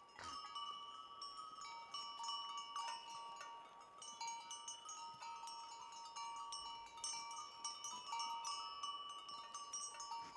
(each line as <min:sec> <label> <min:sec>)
0:00.0 Glocken 0:10.3